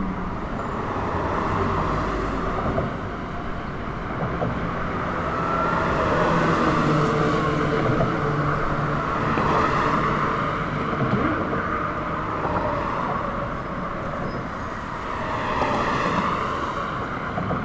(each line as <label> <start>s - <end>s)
traffic leaving Manhattan 0.0s - 17.6s